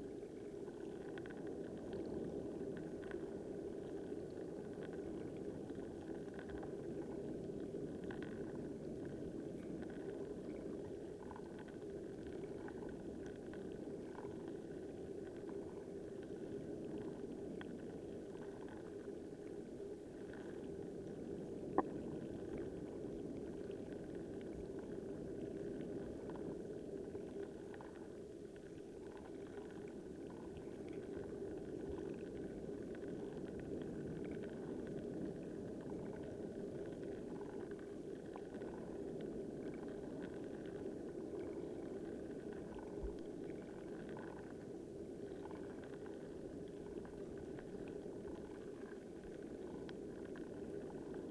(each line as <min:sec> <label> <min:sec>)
0:00.0 Periwinkles and other creatures making delicate, quiet sounds 0:51.3